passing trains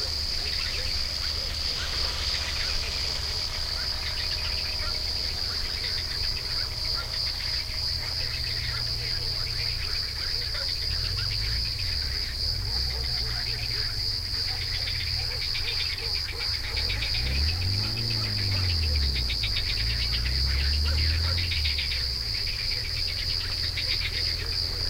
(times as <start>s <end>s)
0.0s 14.5s